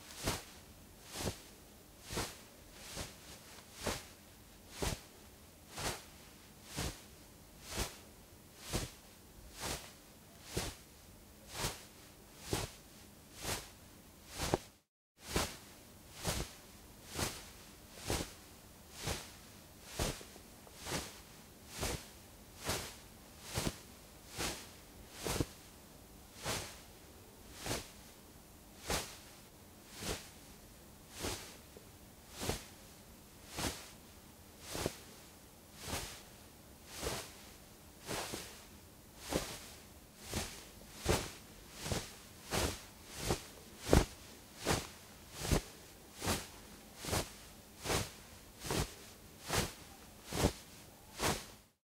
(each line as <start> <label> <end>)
0.0 Cloth Rustle 8.0
8.6 Cloth Rustle 9.0
9.6 Cloth Rustle 10.8
14.3 Cloth Rustle 15.6
17.1 Cloth Rustle 25.6
28.8 Cloth Rustle 29.3
29.9 Cloth Rustle 30.3
31.1 Cloth Rustle 31.6
32.4 Cloth Rustle 32.7
33.5 Cloth Rustle 34.0
34.6 Cloth Rustle 35.2
35.8 Cloth Rustle 36.3
36.9 Cloth Rustle 51.7